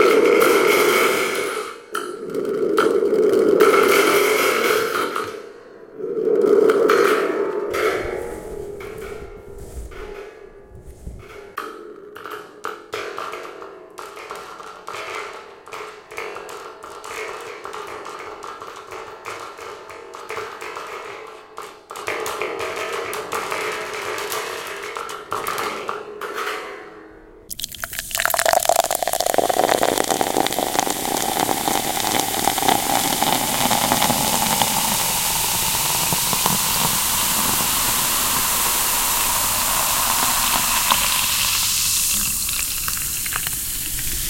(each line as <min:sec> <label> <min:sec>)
0:27.5 pouring ginger ale 0:44.2